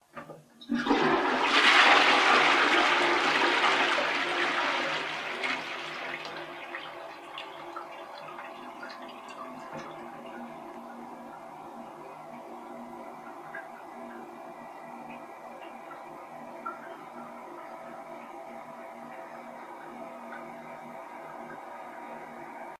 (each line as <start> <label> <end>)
0.6 toilet flush 22.7